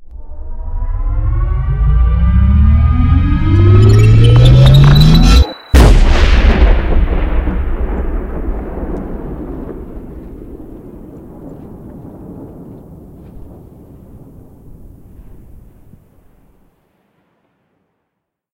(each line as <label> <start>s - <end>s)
drone 0.0s - 7.3s
Build up Detonation 0.0s - 15.2s